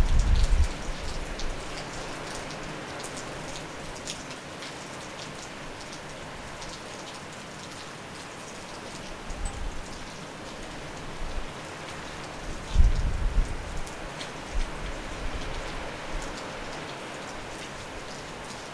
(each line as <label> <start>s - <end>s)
thunderstorm 0.0s - 1.5s
heavy rain 0.0s - 18.7s
thunderstorm 12.6s - 13.9s